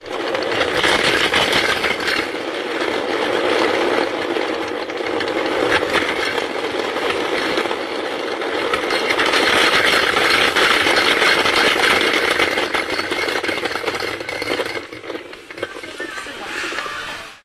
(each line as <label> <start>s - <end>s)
top toy sound 15.6s - 17.4s